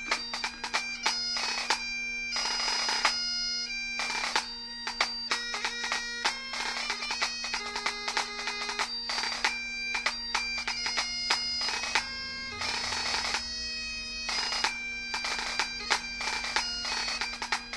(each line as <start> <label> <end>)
0.0 bagpipes 17.7